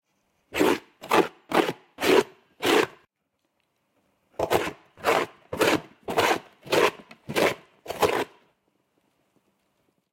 scratching a cardboard box with a fork 0.6 - 3.0
scratching a cardboard box with a fork 4.4 - 8.4

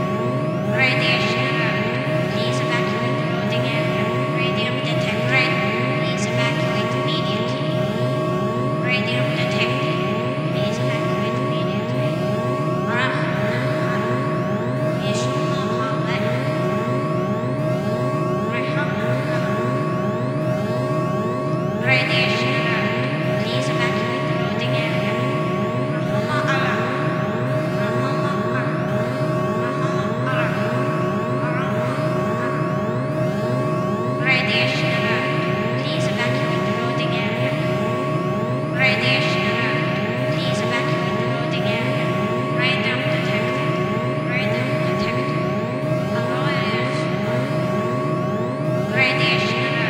radiation alert 0.0 - 49.8

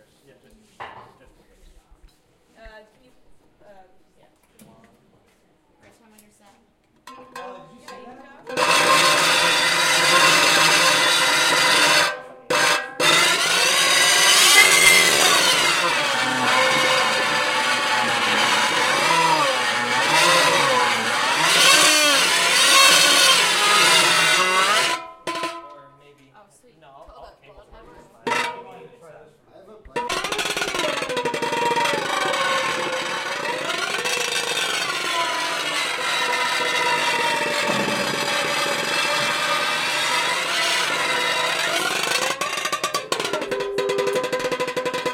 Intonarumori 8.4 - 25.8
Intonarumori 29.9 - 45.1

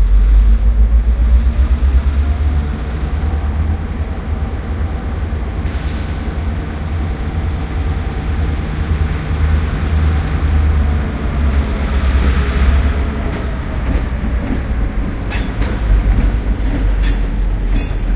train 0.0 - 18.1

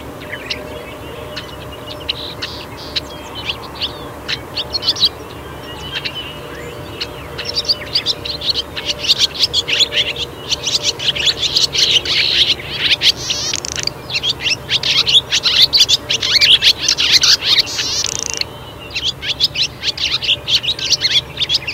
violet green swallow 0.0 - 21.7

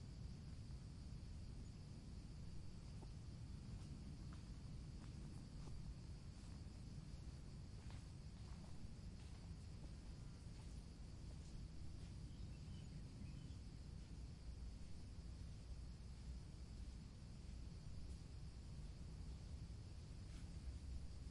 birds sounds 11.4 - 13.8

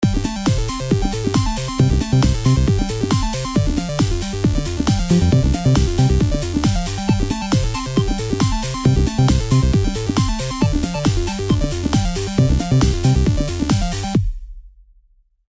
synth 4.9 - 7.3

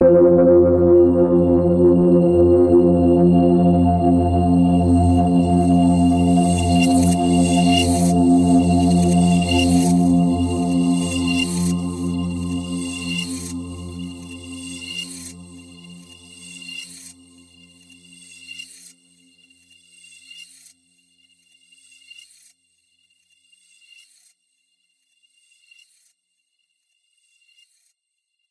synth pad 0.0 - 17.1

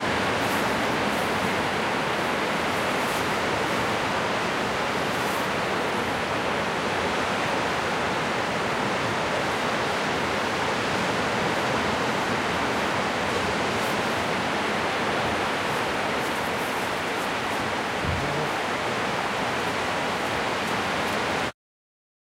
Waves 0.0 - 21.5

